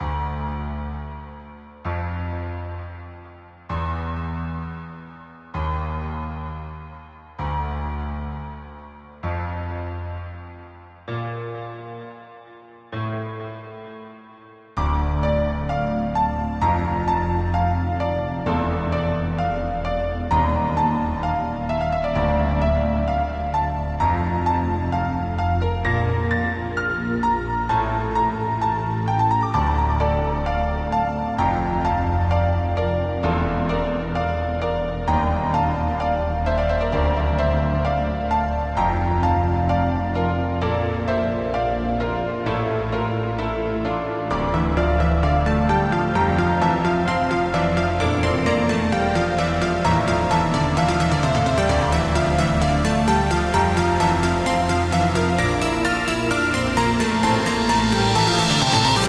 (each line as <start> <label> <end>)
0.0 piano 59.0